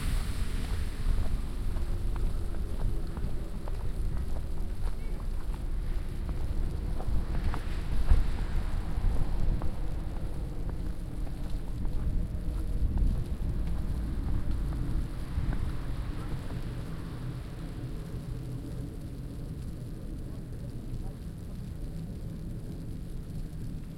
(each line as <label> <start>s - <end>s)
falling snow 0.0s - 18.6s
walking through falling snow 0.0s - 23.9s